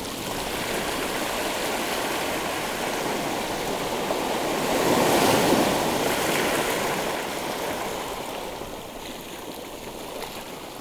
The sea, beginning to reach the low tide 0:00.0 - 0:10.8

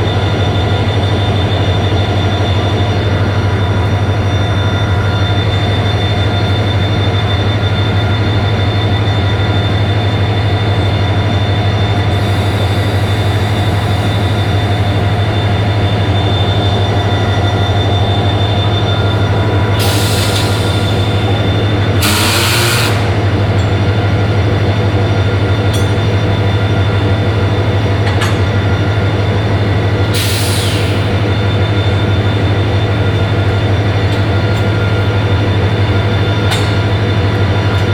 third train arrives slowly driving backwards 0:00.0 - 0:37.9
two trains 0:00.0 - 0:37.9
train service engineer positions some metal poles 0:21.9 - 0:23.8
train service engineer positions some metal poles 0:28.0 - 0:28.6
train service engineer positions some metal poles 0:30.1 - 0:31.2
train service engineer positions some metal poles 0:36.0 - 0:37.9

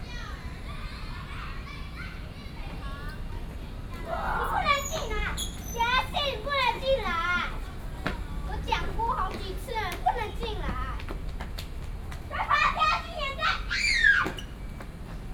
Children in playground 0:00.0 - 0:15.3
Traffic Sound 0:00.0 - 0:15.3

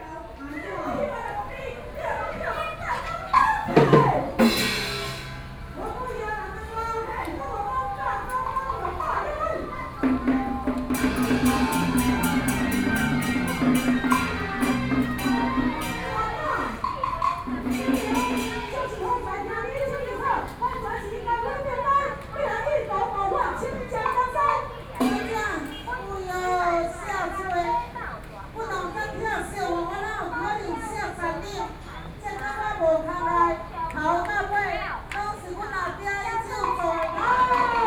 Taiwanese Opera 0:06.5 - 0:20.4

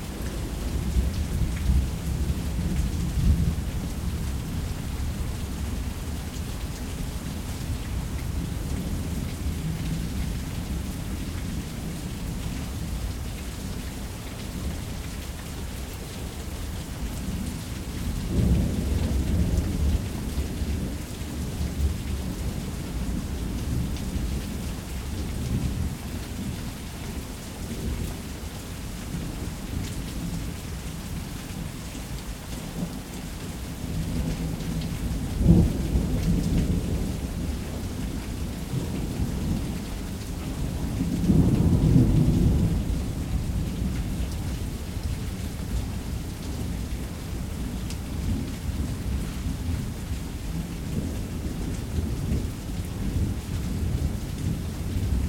rain 0:00.0 - 0:55.2

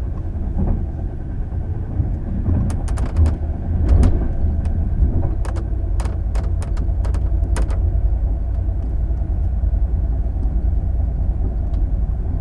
noise from moving furniture 0:02.3 - 0:09.0

